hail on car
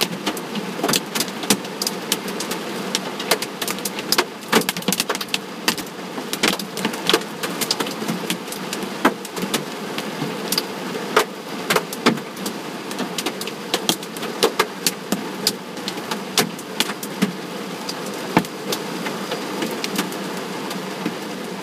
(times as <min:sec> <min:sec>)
0:00.1 0:10.4